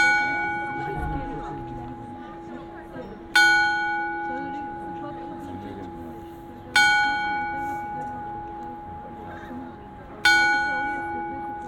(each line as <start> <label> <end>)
0.0 Astronomical Clock 11.6
0.0 crowds 11.6